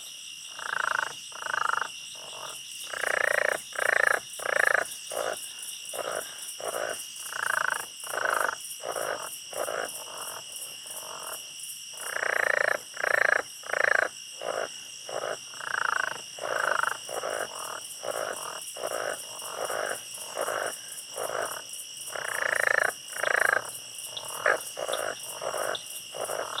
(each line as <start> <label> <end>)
0.0 Insects 26.6
23.1 Birds 26.6